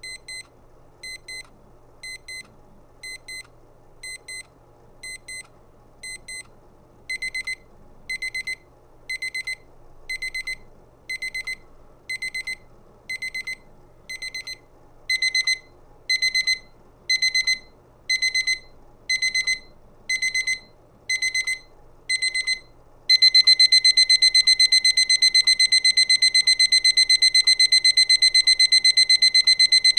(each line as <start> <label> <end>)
7.1 travel alarm clock beeping in various intensities and speeds 29.9